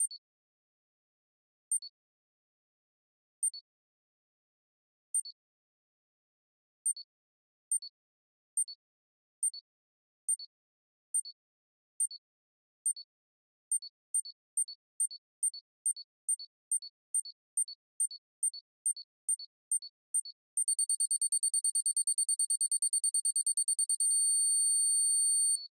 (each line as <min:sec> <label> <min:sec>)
0:20.6 Beep bomb countdown 0:25.6